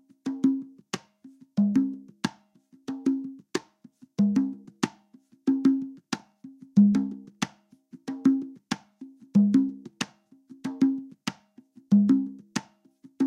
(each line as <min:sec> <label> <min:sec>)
0:00.0 conga beats 0:13.2